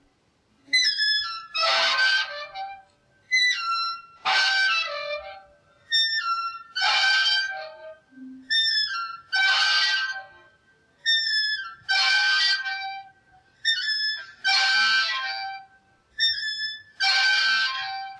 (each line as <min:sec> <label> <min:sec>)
0:00.8 old seesaw squealing 0:10.3
0:11.0 old seesaw squealing 0:15.6
0:16.2 old seesaw squealing 0:18.1